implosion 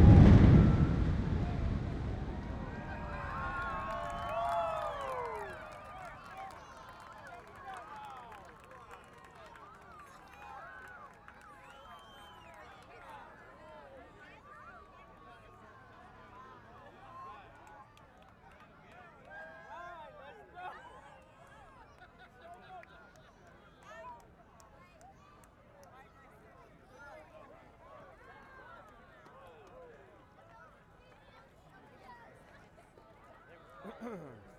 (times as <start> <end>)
0.0 4.5